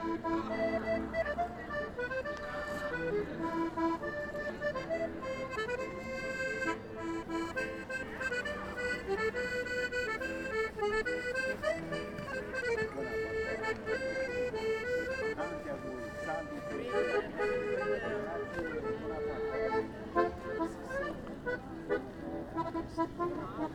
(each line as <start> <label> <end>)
0.0 Liturgy 23.7
0.0 accordeonist 23.7